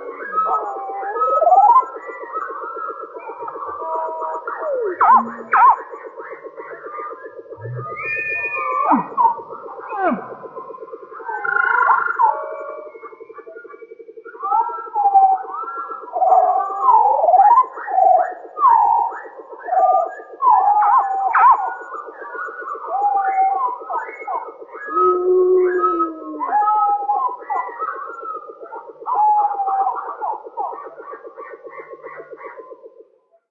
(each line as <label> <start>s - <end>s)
dinosaur 7.6s - 10.6s